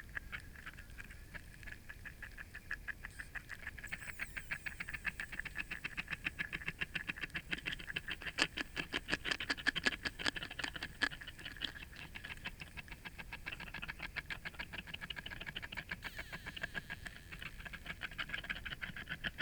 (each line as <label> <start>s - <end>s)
tadpoles nibbling from a spawn covered branch 4.6s - 12.7s
cicadas 16.1s - 18.0s